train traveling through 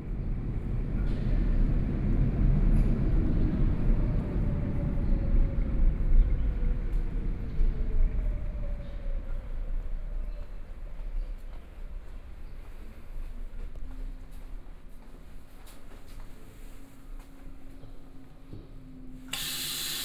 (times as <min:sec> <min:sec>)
0:19.3 0:20.0